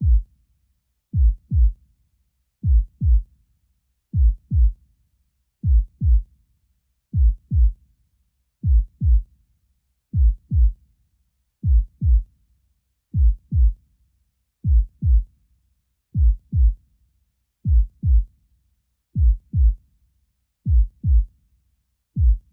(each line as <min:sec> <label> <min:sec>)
0:00.0 heartbeat 0:00.2
0:01.2 heartbeat 0:01.8
0:02.6 heartbeat 0:03.3
0:04.2 heartbeat 0:04.8
0:05.6 heartbeat 0:06.2
0:07.2 heartbeat 0:07.8
0:08.6 heartbeat 0:09.2
0:10.2 heartbeat 0:10.8
0:11.6 heartbeat 0:12.3
0:13.2 heartbeat 0:13.8
0:14.6 heartbeat 0:15.3
0:16.2 heartbeat 0:16.8
0:17.7 heartbeat 0:18.3
0:19.2 heartbeat 0:19.8
0:20.7 heartbeat 0:21.3
0:22.2 heartbeat 0:22.5